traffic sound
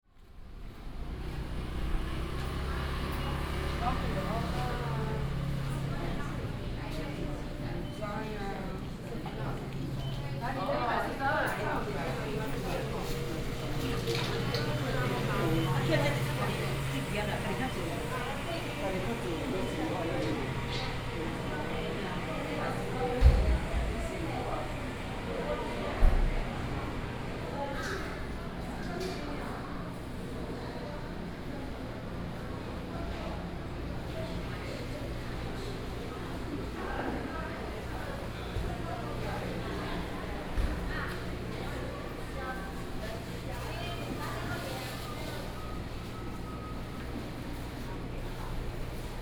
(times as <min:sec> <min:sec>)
0:00.7 0:07.8, 0:11.9 0:28.7